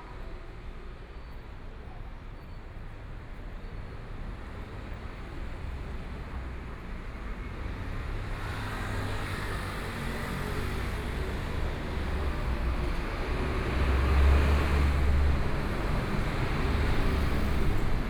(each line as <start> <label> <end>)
7.6 Traffic Sound 18.0